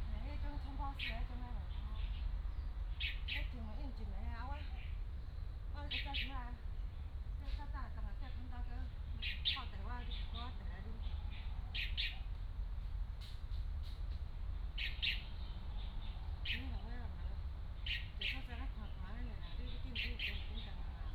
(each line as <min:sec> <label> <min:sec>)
0:00.0 Birds singing 0:21.1